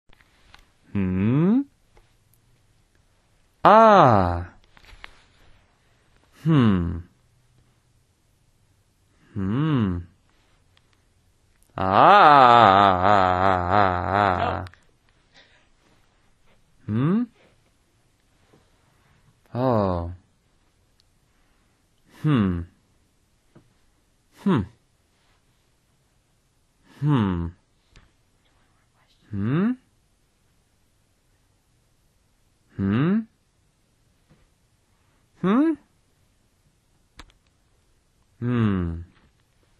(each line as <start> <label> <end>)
6.4 Hmm Ahh 7.1
9.2 Hmm Ahh 10.1
11.8 Hmm Ahh 14.8
32.8 Hmm Ahh 33.3